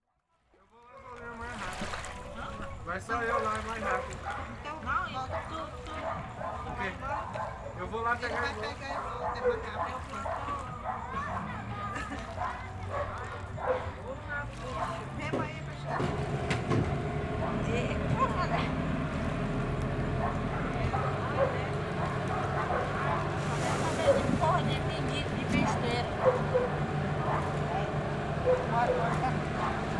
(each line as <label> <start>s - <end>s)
fishermen 0.6s - 29.9s
boats passing by 0.6s - 29.9s
water lap on boat hull 1.0s - 29.9s
people pass by 1.1s - 29.9s
children playing 1.9s - 29.9s
dog bark 3.2s - 17.7s
motorcycles 3.7s - 29.9s
dog bark 20.1s - 24.6s
dog bark 25.6s - 29.9s